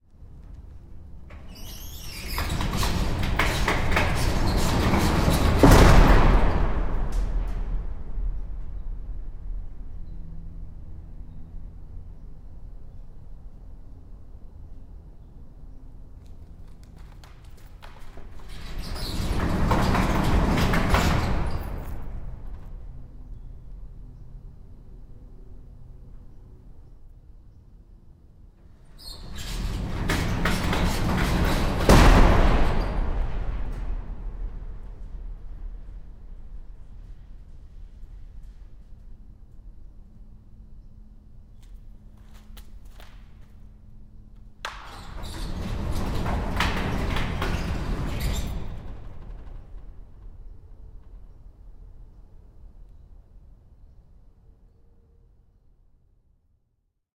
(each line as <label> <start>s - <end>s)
Slamming shut and opening a huge metal warehouse door 1.1s - 10.2s
Slamming shut and opening a huge metal warehouse door 16.5s - 24.0s
Slamming shut and opening a huge metal warehouse door 28.6s - 39.2s
Slamming shut and opening a huge metal warehouse door 44.5s - 52.0s